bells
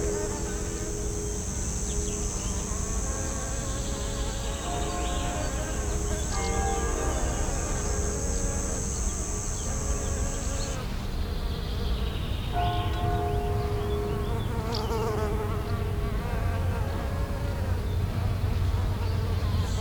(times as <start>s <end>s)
0.0s 10.2s, 12.5s 16.4s